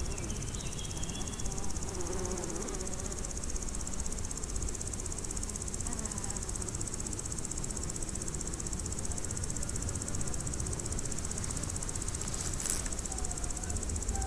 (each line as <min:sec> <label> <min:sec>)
0:00.0 insects on a meadow 0:14.2